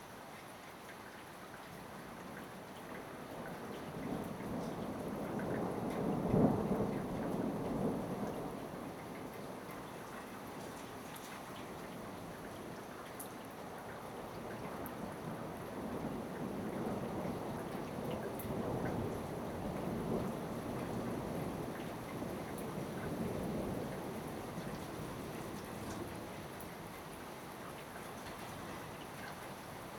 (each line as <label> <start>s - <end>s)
rain 0.0s - 29.9s